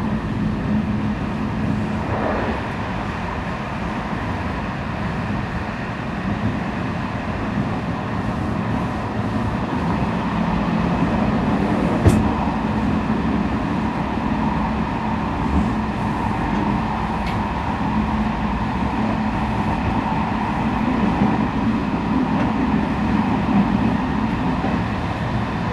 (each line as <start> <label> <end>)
0.0 train 25.7